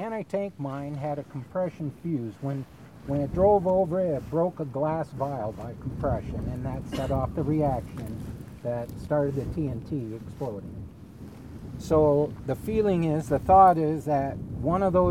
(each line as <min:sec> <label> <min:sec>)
0:00.0 FWS Agent Alan Anderson explains 0:10.7
0:11.8 FWS Agent Alan Anderson explains 0:15.1